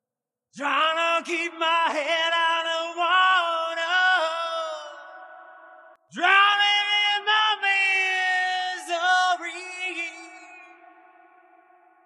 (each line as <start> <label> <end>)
0.5 singing 12.0